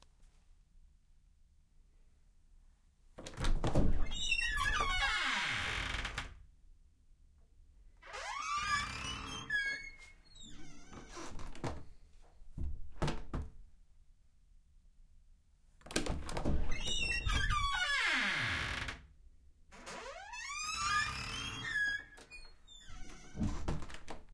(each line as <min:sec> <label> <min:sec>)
0:03.7 squeaky door with closing and opening 0:06.2
0:08.0 squeaky door with closing and opening 0:11.8
0:16.2 squeaky door with closing and opening 0:19.0
0:19.8 squeaky door with closing and opening 0:24.2